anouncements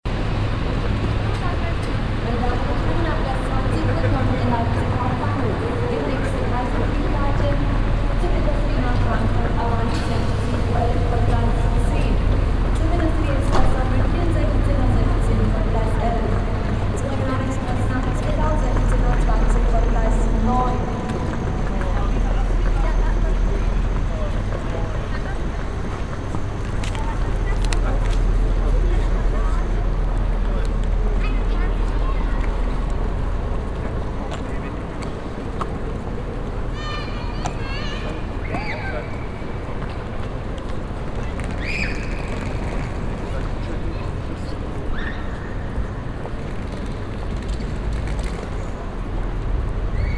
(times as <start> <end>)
1.4 33.2